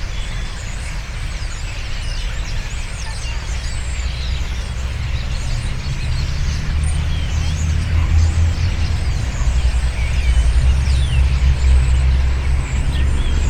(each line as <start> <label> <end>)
0.0 birds chirping in rushes around the pond 13.4